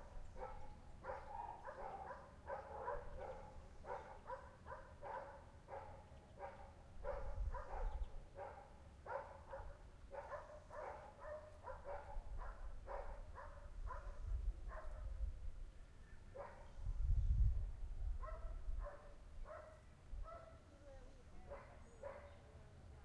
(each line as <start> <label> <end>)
0.0 birds 12.2
0.3 dogs 15.2
7.0 wind noise 8.2
11.6 wind noise 15.8
16.4 dogs 16.8
16.4 wind noise 20.5
18.2 dogs 20.7
21.4 dogs 22.5